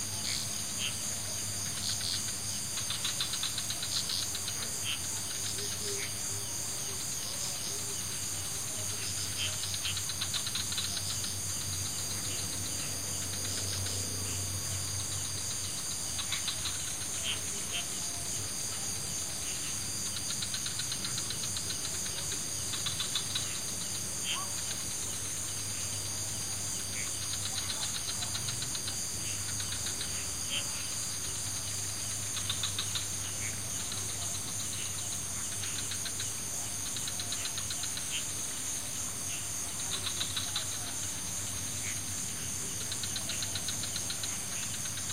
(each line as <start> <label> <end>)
0.0 Frogs 45.1
0.0 crickets 45.1